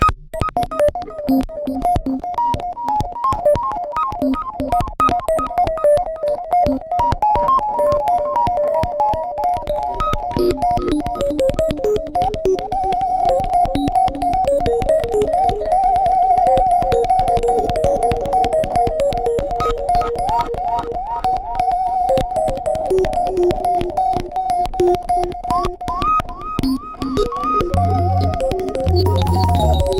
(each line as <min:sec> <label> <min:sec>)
0:27.7 Mouth Blowing Blip Blops 0:29.9
0:27.8 mouth whistling 0:29.9